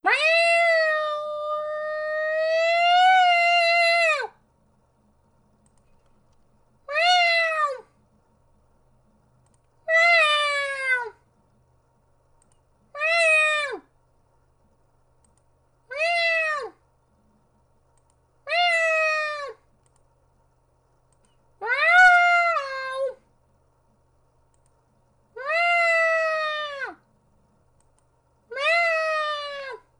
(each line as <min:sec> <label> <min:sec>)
0:00.0 scared cat 0:04.3
0:28.5 scared cat 0:29.9